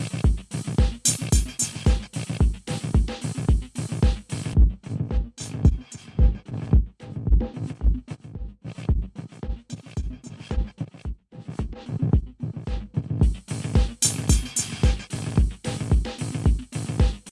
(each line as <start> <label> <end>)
0.0 rhythmic loop running through the Trance Gate 17.3